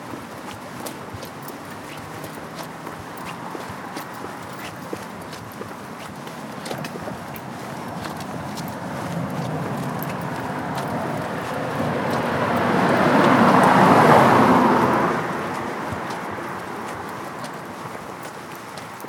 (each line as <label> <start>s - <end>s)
Car 0.0s - 19.0s
Walking along North Circular Road 0.0s - 19.0s
road traffic noise in a distance 0.0s - 19.0s